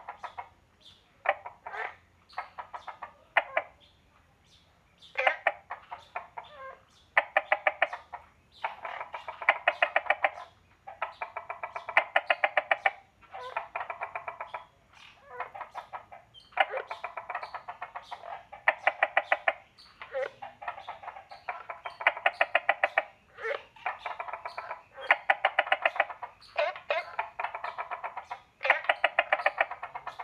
0.0s Frogs chirping 3.9s
5.0s Frogs chirping 30.2s

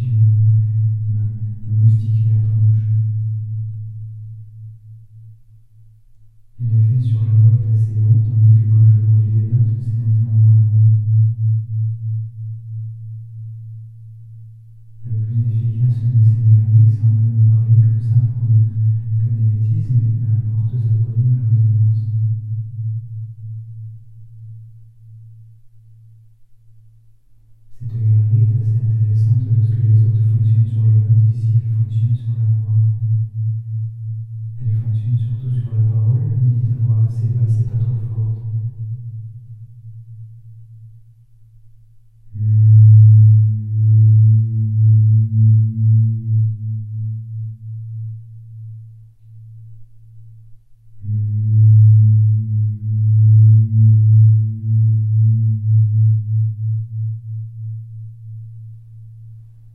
0.0s talking into the tunnel 3.1s
6.6s talking into the tunnel 10.7s
15.0s talking into the tunnel 22.2s
27.7s talking into the tunnel 33.2s
34.6s talking into the tunnel 38.7s

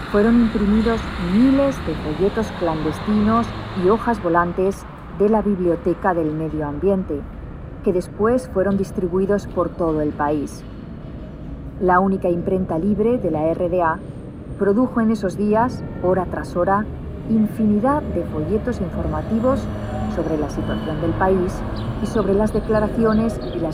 0.0s info terminal with several international languages 10.8s
0.0s passing by tram 23.7s
11.7s info terminal with several international languages 23.7s

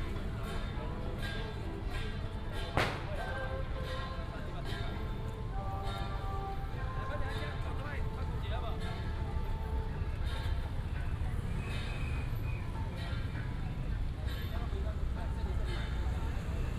0.0s Many people gathered at the intersection 16.7s
2.7s Firecrackers 3.5s
2.7s fireworks 3.3s

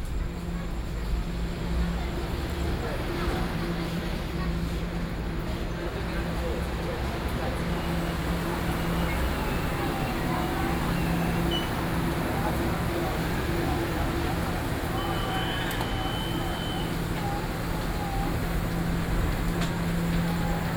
0.0s Train traveling through 20.7s
7.7s Station broadcasting 20.7s

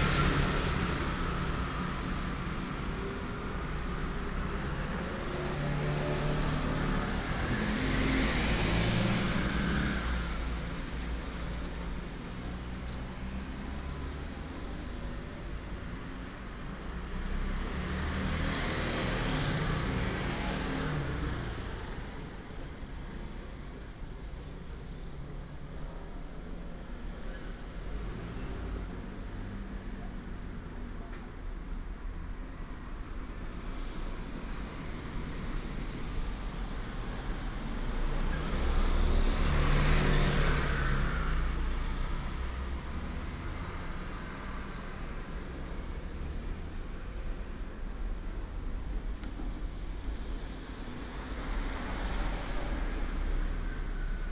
0.0s traffic sound 54.3s
32.3s Railroad Crossing 54.3s

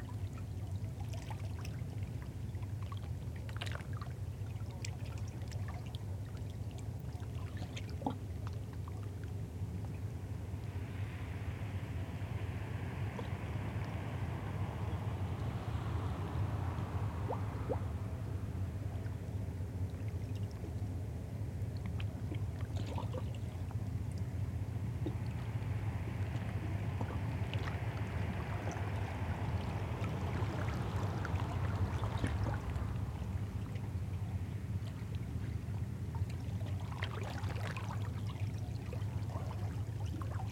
9.2s Audible signal Hurtigruten ship 22.5s
23.3s Audible signal Hurtigruten ship 37.0s

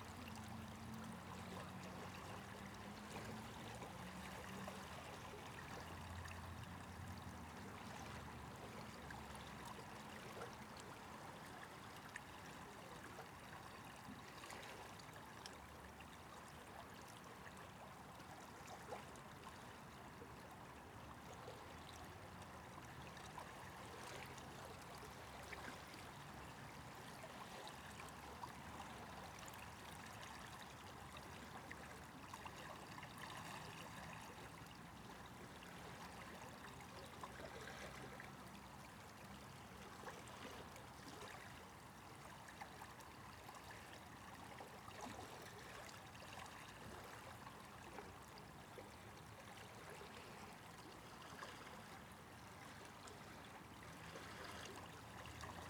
21.1s water was rushing past me, swirling and bubbling 55.6s

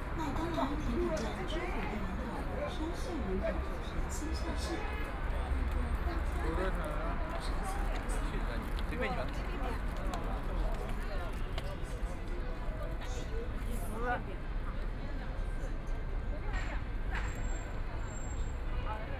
0.0s Traffic Sound 19.1s

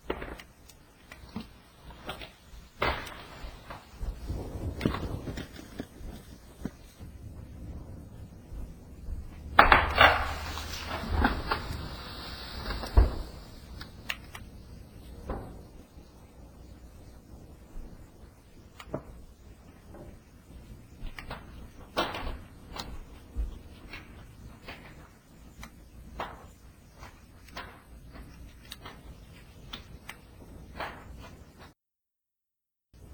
0.0s snapping tree limbs 7.2s
1.2s mini avalnches of snow falling from the trees 15.2s
1.2s falling trees 15.4s
9.4s snapping tree limbs 14.7s

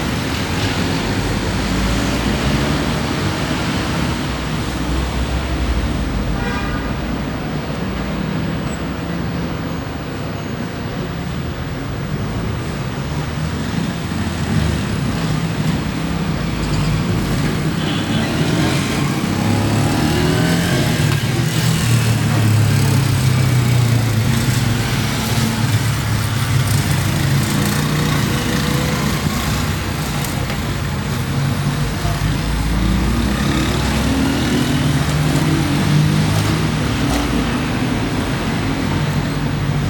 0.0s cars 39.8s
0.0s motorcycles 39.8s
0.0s street vendors 39.8s
0.0s wind 39.8s
13.3s voices of passersby 39.8s

